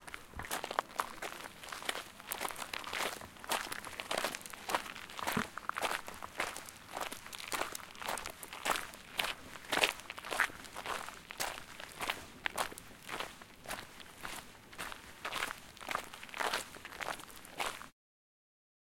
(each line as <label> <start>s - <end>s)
Footsteps On Gravel 0.0s - 17.9s